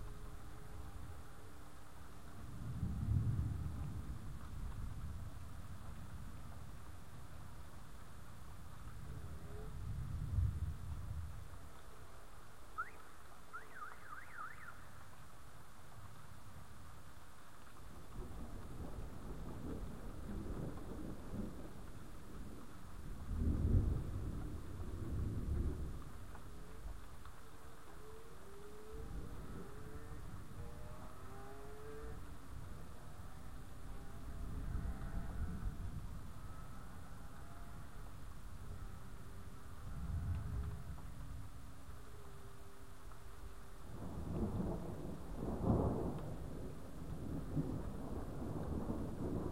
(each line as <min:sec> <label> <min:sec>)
0:02.6 thunder 0:05.9
0:18.1 thunder 0:26.9
0:43.9 thunder 0:49.5